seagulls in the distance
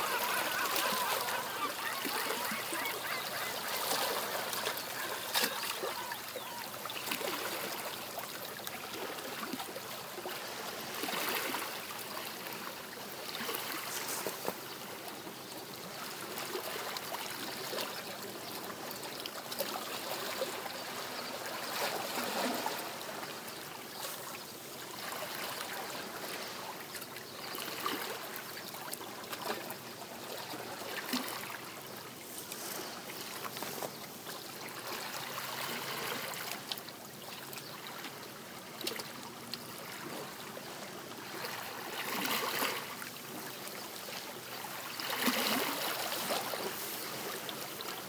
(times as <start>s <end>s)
0.0s 7.4s